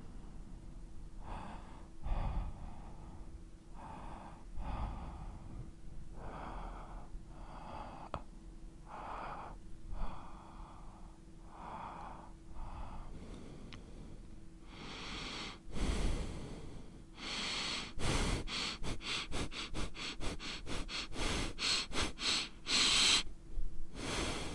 8.9s Men breathing 23.3s
9.2s gasp 23.3s
23.9s Men breathing 24.5s
24.0s gasp 24.5s

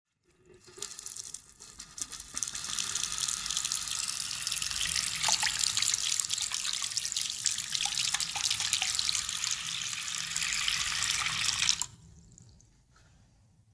0.6s running tap 12.0s

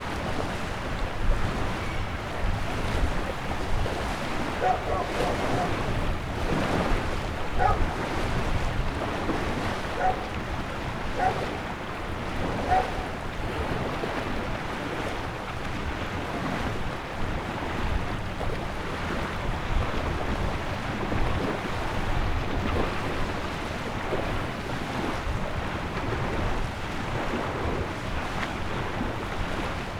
0.0s Medium wind 29.9s
0.0s waves 29.9s
4.6s dogs 5.9s
7.6s dogs 8.1s
9.9s dogs 10.3s
11.2s dogs 11.5s
12.6s dogs 13.2s

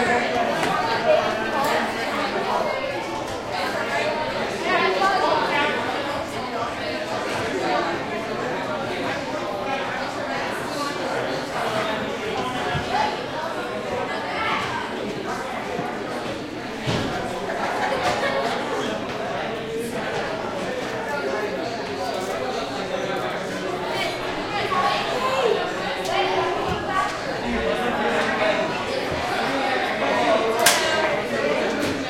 0.0s busy students chatting 32.0s

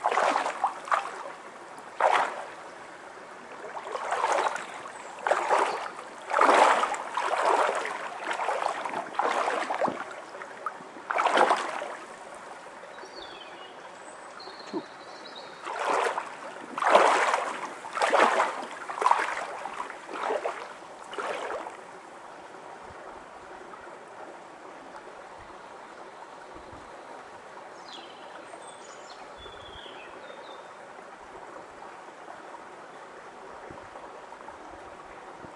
0.0s water bird 21.8s
0.0s water 35.5s
24.9s water bird 30.8s

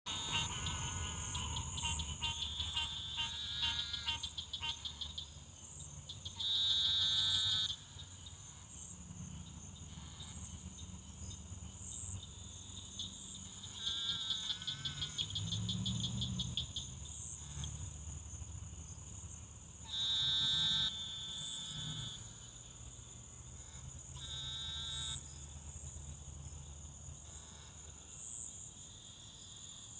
0.1s American green tree 29.9s
0.1s northern cricket frogs 29.9s
23.5s eastern narrow-mouth toad 25.3s

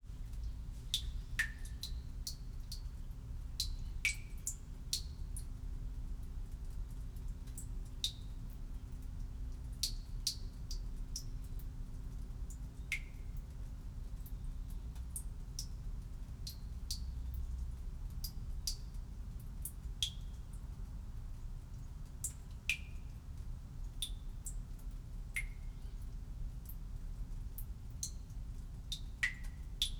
0.0s outside ambience leaks in 29.9s
0.0s water drips 29.9s

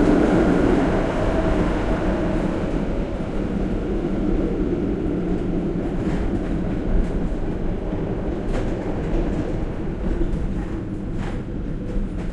0.0s An old rattling tram 12.3s

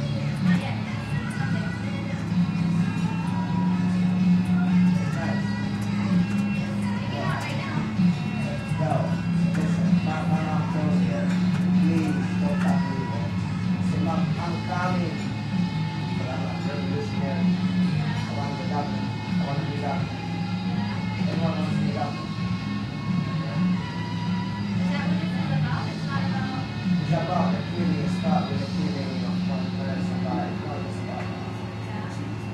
0.0s people voices 15.4s
0.0s playing guitar 32.5s
0.0s radio music 32.5s
24.7s people voices 32.5s

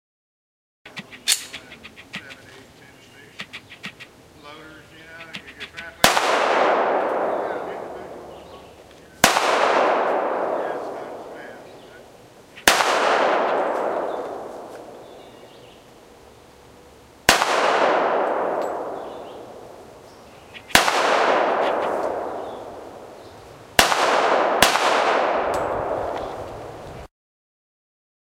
0.9s camera lens noise 4.1s
5.0s camera lens noise 6.1s
5.6s pistol, fired outside 8.6s
7.1s voices from a distance 9.3s
9.2s pistol, fired outside 12.0s
10.4s voices from a distance 12.2s
12.6s pistol, fired outside 15.3s
17.2s pistol, fired outside 19.8s
20.5s camera lens noise 20.8s
20.6s pistol, fired outside 23.2s
23.8s pistol, fired outside 26.5s

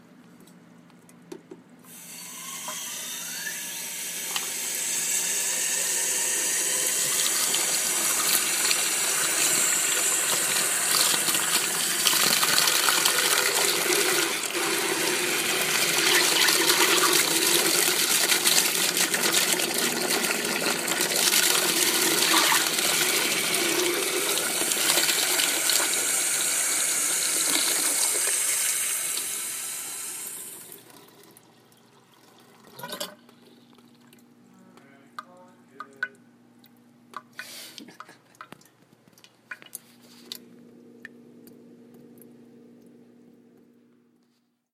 1.9s small sink slowly turning on 34.4s
39.5s small sink slowly turning on 44.2s

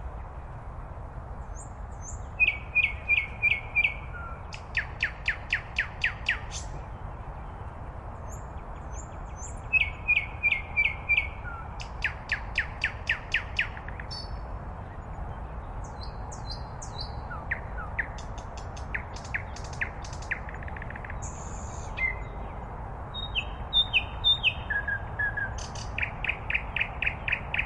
0.0s Distant road hum 27.6s
1.4s sweet nightingale's song 27.6s

